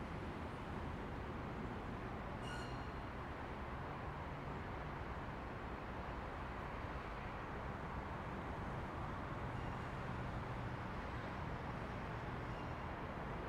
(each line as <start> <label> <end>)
0.0 City sounds 13.4